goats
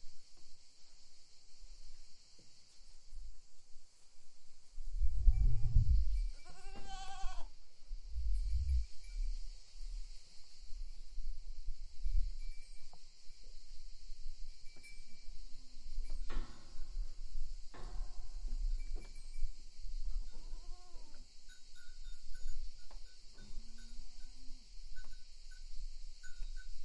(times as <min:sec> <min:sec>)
0:06.2 0:07.5